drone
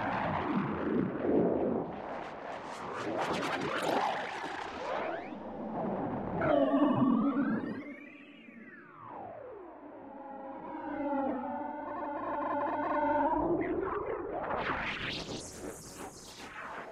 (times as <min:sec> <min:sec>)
0:05.3 0:14.6